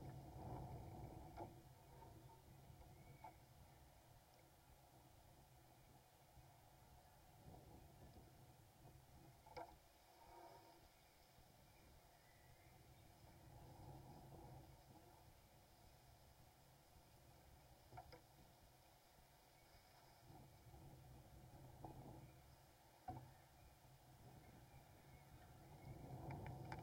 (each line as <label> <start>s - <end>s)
bird sounds 0.5s - 4.4s
wind on fence 6.6s - 26.8s
bird sounds 10.2s - 15.0s
bird sounds 21.5s - 26.8s